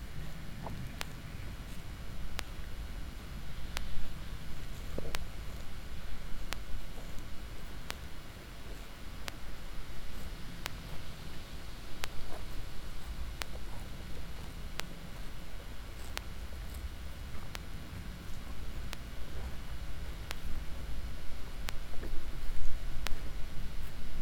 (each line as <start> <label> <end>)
0.0 cows eating the meadow 24.2
0.0 permanent electric pulse of the electric fence 24.2